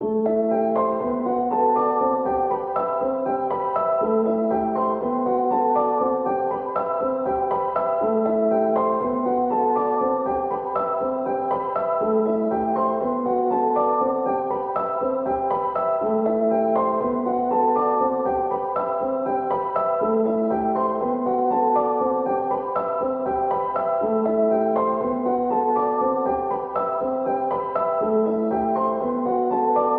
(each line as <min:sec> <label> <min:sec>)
0:00.0 piano 0:29.9